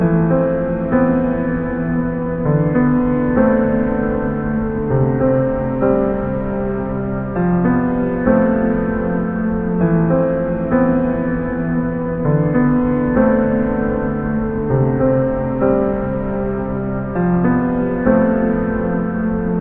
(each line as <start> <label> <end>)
0.0 piano 19.6